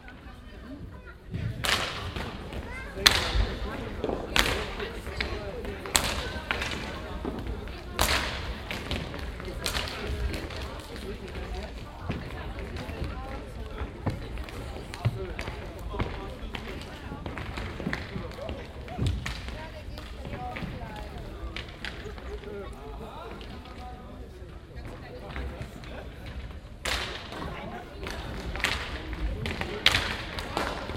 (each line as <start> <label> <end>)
0.0 inline skater hockey warmschiessen 30.9